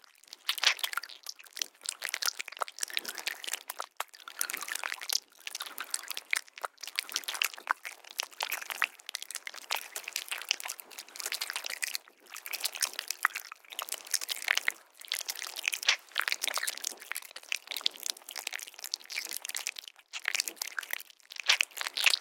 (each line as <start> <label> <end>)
0.0 Eating Flesh 22.2